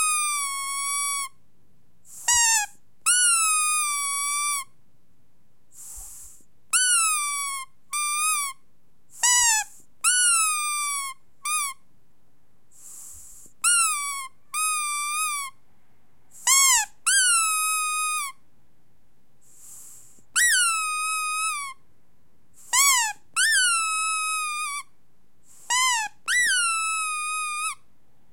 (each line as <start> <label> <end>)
0.0 rubber squeaky toy being squeezed 1.4
2.1 rubber squeaky toy being squeezed 4.8
6.7 rubber squeaky toy being squeezed 8.6
9.2 rubber squeaky toy being squeezed 11.8
13.4 rubber squeaky toy being squeezed 15.6
16.4 rubber squeaky toy being squeezed 18.4
20.3 rubber squeaky toy being squeezed 21.8
22.6 rubber squeaky toy being squeezed 24.9
25.5 rubber squeaky toy being squeezed 27.8